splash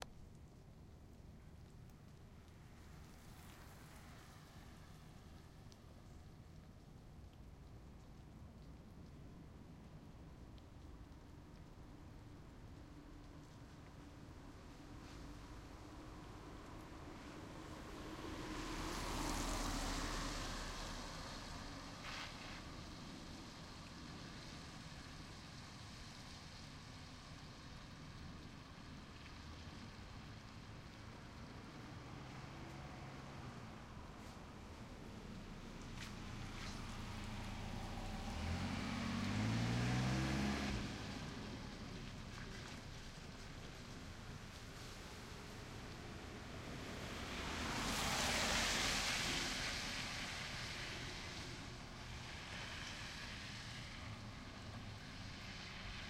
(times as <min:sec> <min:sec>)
0:14.6 0:56.0